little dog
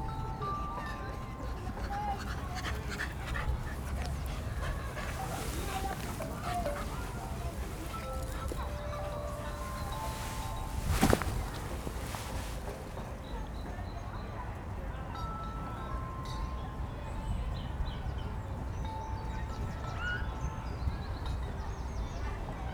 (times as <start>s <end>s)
0.0s 12.8s